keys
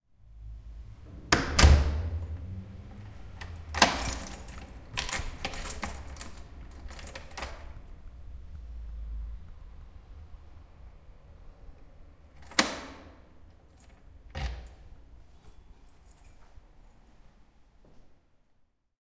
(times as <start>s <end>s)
1.5s 8.0s, 12.3s 17.1s